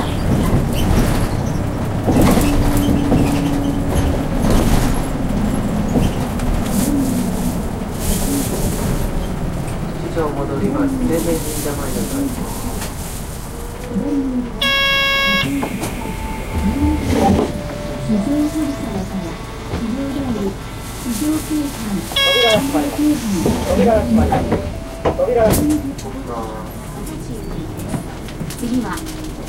heavy, rumbling, shaking bus ride 0.0 - 29.4
Speaker announcements 9.7 - 13.0
Speaker announcements 13.6 - 29.4

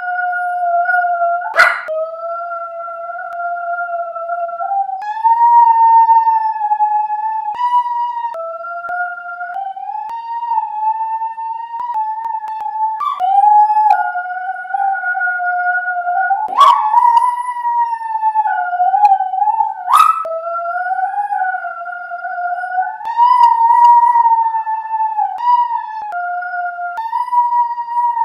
yowl 1.5 - 1.9
yowl 19.9 - 20.3

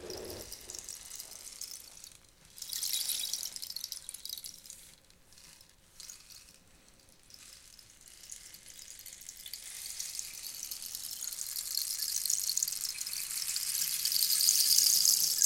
Rain stick 0.0 - 1.4

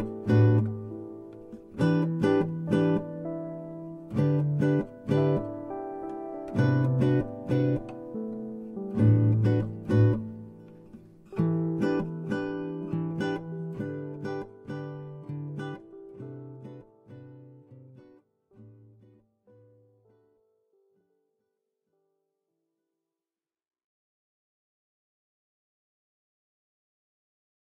Acoustic Guitar 0.0 - 20.2

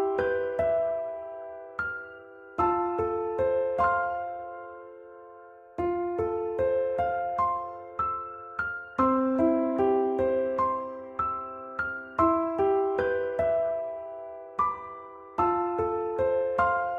Piano 0.0 - 16.9

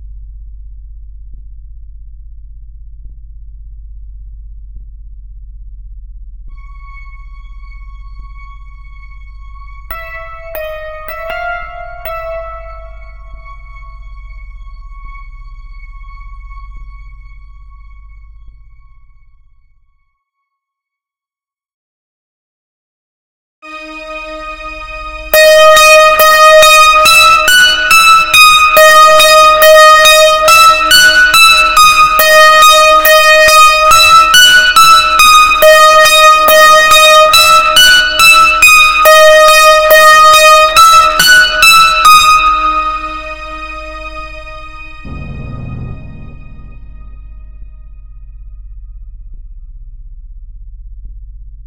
creepy music 6.5 - 18.8
creepy music 23.7 - 48.8

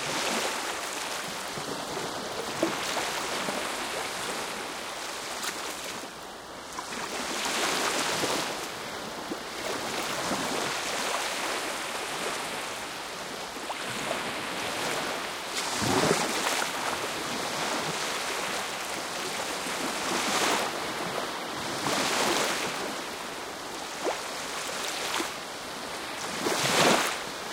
waves 0.0 - 27.5

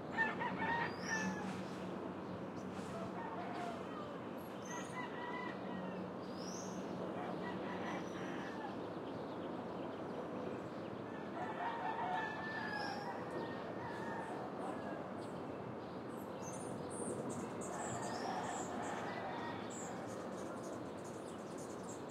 traffic 0.0 - 22.1
rooster 0.1 - 1.8
birds 0.1 - 22.1
rooster 2.8 - 6.1
rooster 7.1 - 8.8
rooster 11.1 - 15.2
rooster 17.7 - 20.7

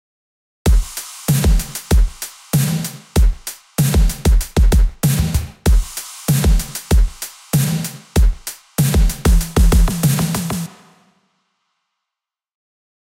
Snare 0.8 - 11.1

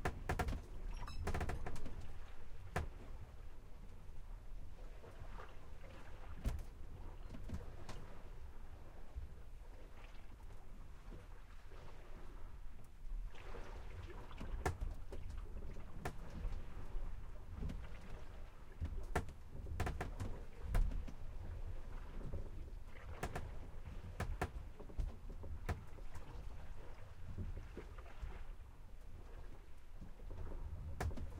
Sailboat Sailing Interior 0.0 - 31.3
water 0.0 - 31.3
creak 0.0 - 3.0
creak 19.2 - 20.8
creak 23.2 - 23.6

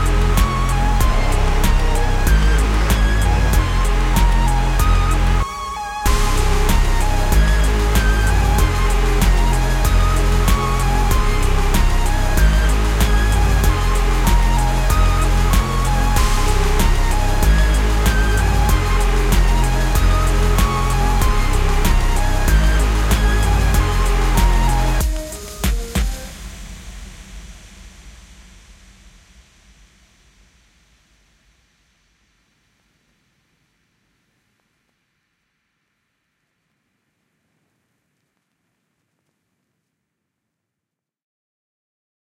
music 0.0 - 29.6

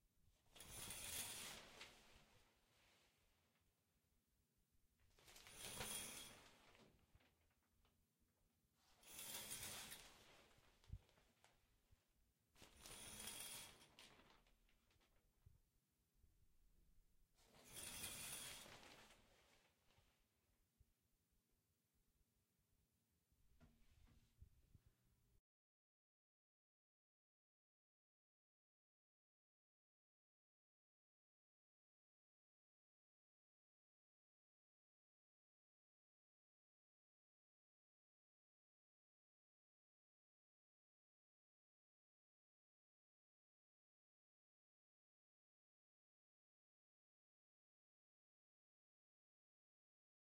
pulling curtain 0.5 - 3.3
pulling curtain 5.1 - 7.4
pulling curtain 8.8 - 11.6
pulling curtain 12.6 - 15.2
pulling curtain 17.4 - 20.1

